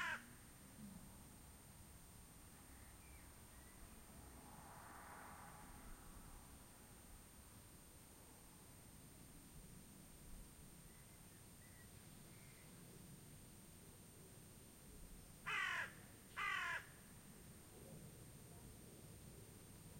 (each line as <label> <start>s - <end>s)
crow 0.0s - 0.3s
low noise of the farm itself 0.0s - 19.9s
Very distant cars 0.0s - 19.9s
Distant song of blackbird 2.6s - 4.0s
airplanes 3.6s - 7.4s
Distant song of blackbird 10.8s - 12.8s
crow 15.5s - 17.0s